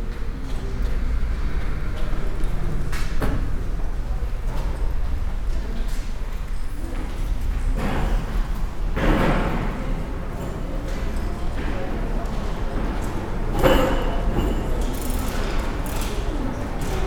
0.0s bus station roaring outside 17.0s
0.0s hum of the building 17.0s
9.0s steps 17.0s
9.0s voices 17.0s

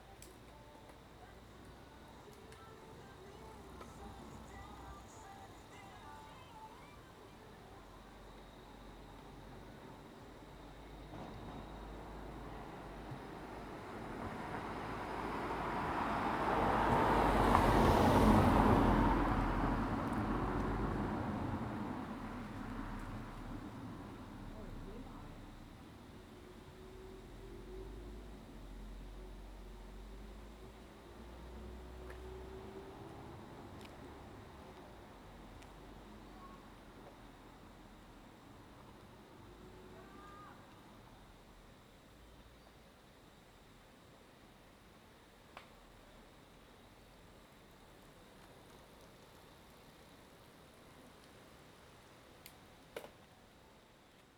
0.0s Cicada sounds 52.9s
23.6s voice of a distant aircraft 29.9s
35.9s voice of a distant aircraft 37.2s
39.6s voice of a distant aircraft 41.3s

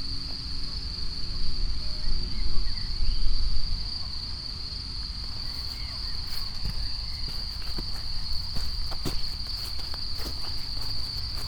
5.2s wet grass 11.4s

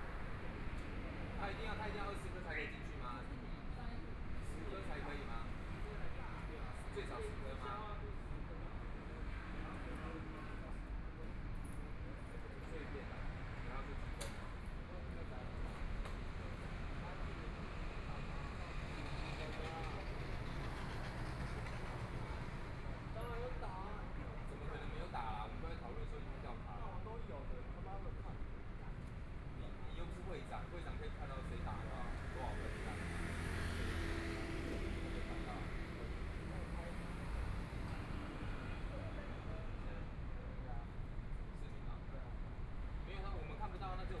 12.9s Traffic Sound 44.2s

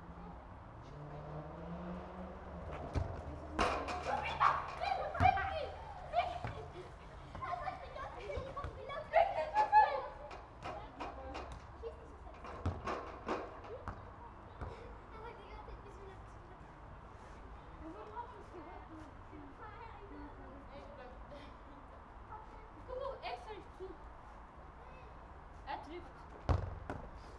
0.0s kids playing soccer 27.3s

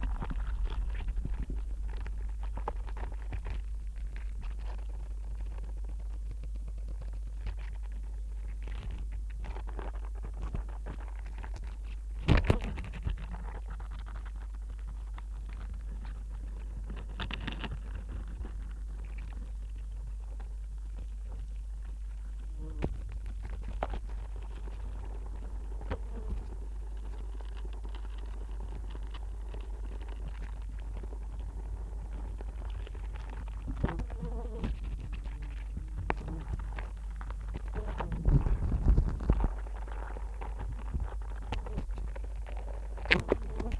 0.0s wasps 43.7s

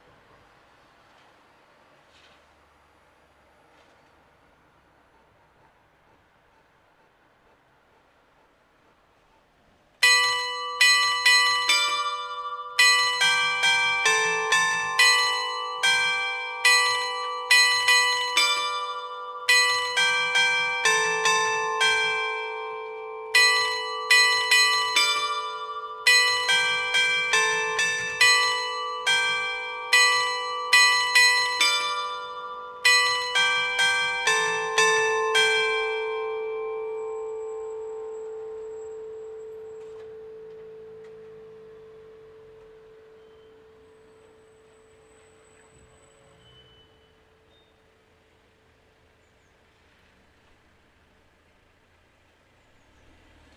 9.8s carillon de l'hôtel de ville 52.2s

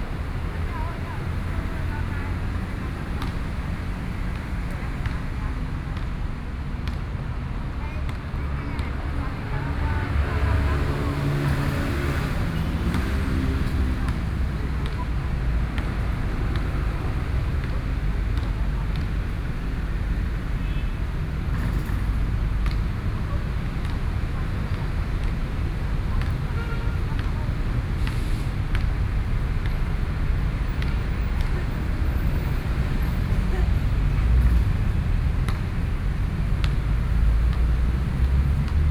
0.0s Traffic Noise 38.9s
11.2s Play basketball 38.9s

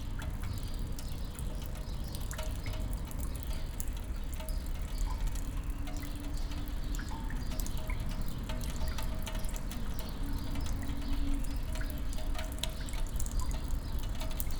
0.0s dripping water 14.5s

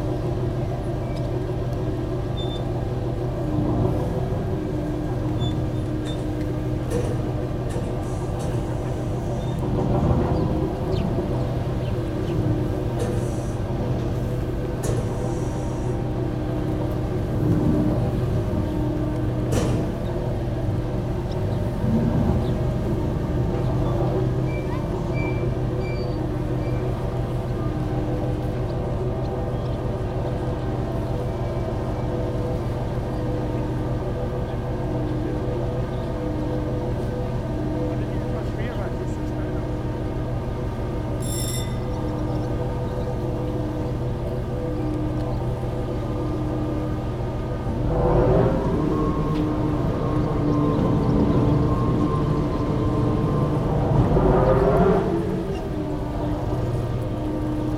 0.0s Industrial Harbour Crane 57.7s
0.0s engines 57.7s
2.3s Industrial noises 57.7s
8.3s birds in the distance 16.8s
18.0s birds in the distance 47.9s
37.9s people talking 39.8s
48.5s birds in the distance 57.7s

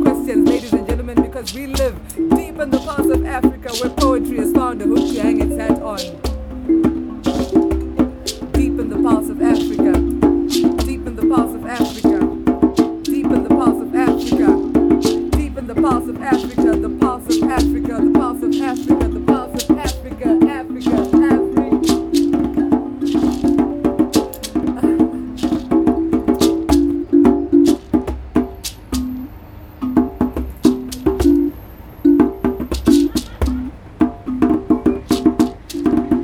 0.0s children and neighbors 36.2s
0.0s jamming away with her band 36.2s
0.0s traffic of one of the main Through-roads 36.2s

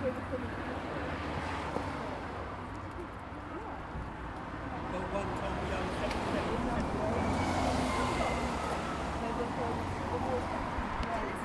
0.0s Night bus 11.4s

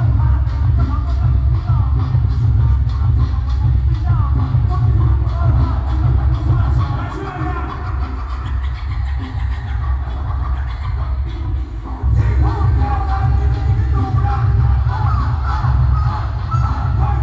0.0s Protest songs 9.5s

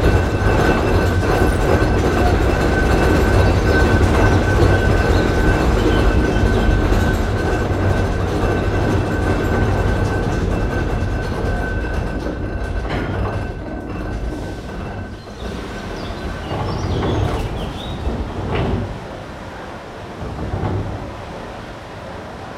0.0s Funicular 22.5s

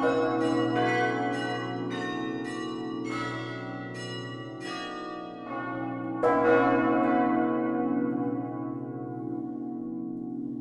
0.0s automatic tune played on the carillon 5.6s
0.0s melody of four bells 7.7s

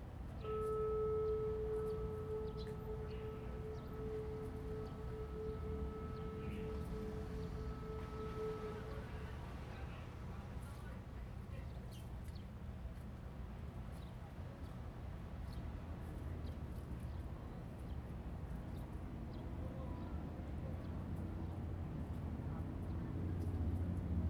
0.3s Tourists 10.6s
0.4s Distance passenger whistle sound 9.4s

